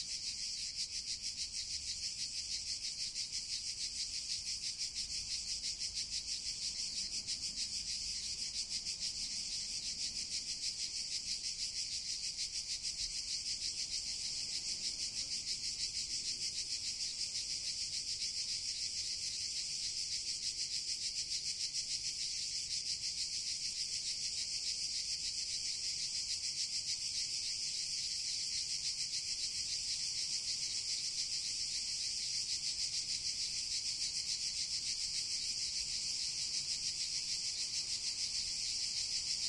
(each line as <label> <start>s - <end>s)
crickets are chirping 0.0s - 39.4s